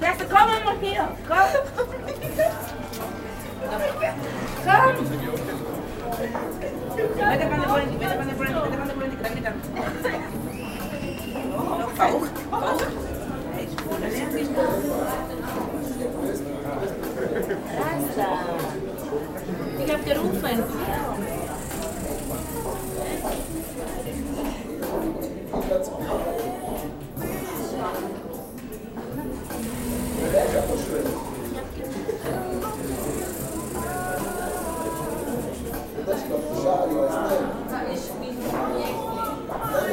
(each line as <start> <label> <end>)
0.0 music 39.9
0.0 people talking & laughing 39.9
21.0 the strange, repeated noise is the automatic door 24.2
29.4 the strange, repeated noise is the automatic door 31.6
32.6 the strange, repeated noise is the automatic door 35.7